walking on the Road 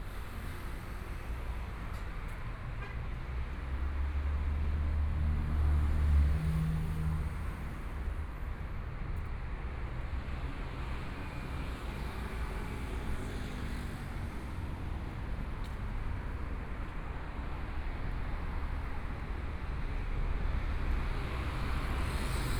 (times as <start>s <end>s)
13.1s 19.9s